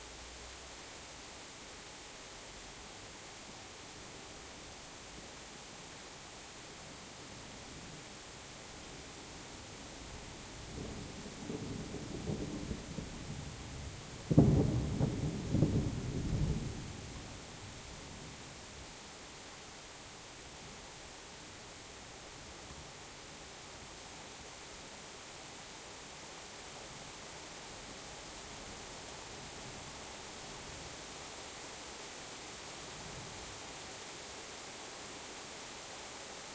Rain 0.0 - 36.5
close, loud thunderclap 14.2 - 17.0

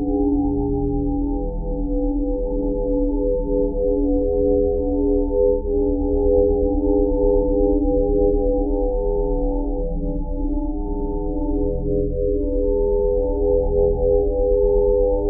pure ambient sine wave 0.0 - 15.2

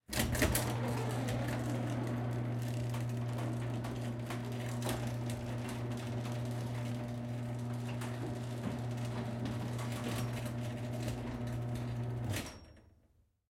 mechanical garage door opening 0.0 - 12.9

